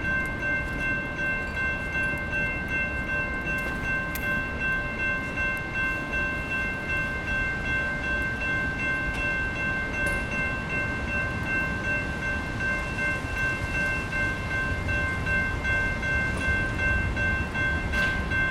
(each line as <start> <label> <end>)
0.0 Light Rail train 18.5
0.0 crossing bells 18.5